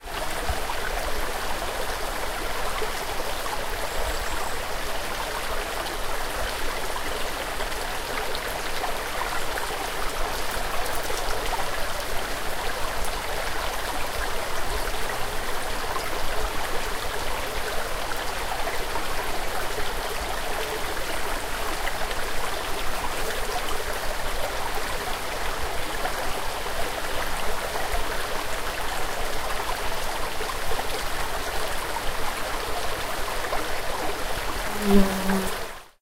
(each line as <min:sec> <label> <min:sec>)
0:00.0 small River 0:36.0
0:32.7 insect 0:35.9